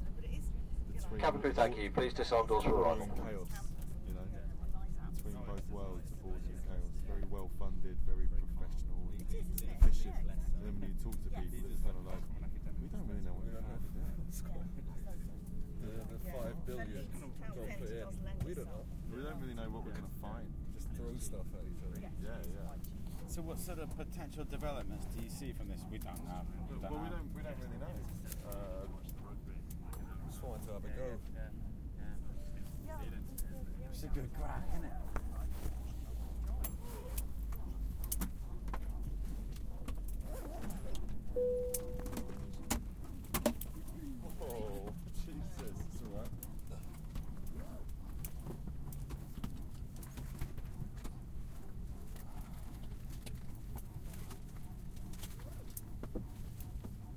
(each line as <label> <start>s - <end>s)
people talking 0.0s - 15.2s
intercom announcements 1.1s - 3.2s
plane intercom tone 41.4s - 42.7s
intercom announcements 41.4s - 42.8s
people talking 44.0s - 46.3s